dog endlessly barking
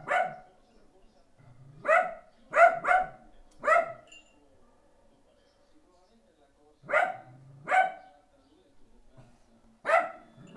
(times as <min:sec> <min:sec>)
0:00.0 0:00.5, 0:01.8 0:04.1, 0:06.9 0:08.1, 0:09.8 0:10.5